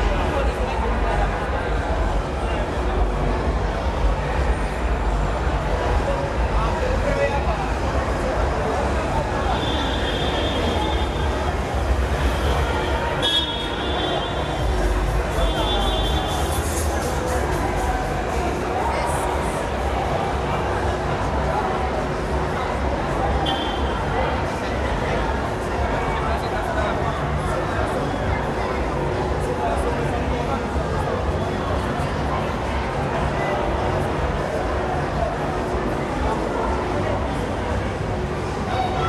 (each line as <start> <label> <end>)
0.0 waiting and lingering people 39.0